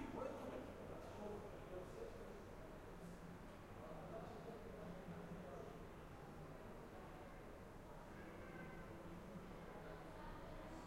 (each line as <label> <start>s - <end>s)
typical noise of a city 0.0s - 10.8s